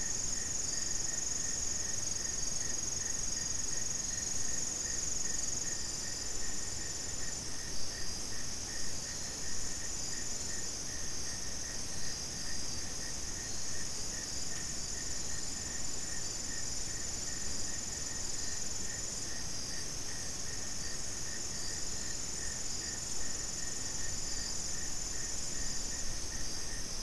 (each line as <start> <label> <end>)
0.0 insects 27.0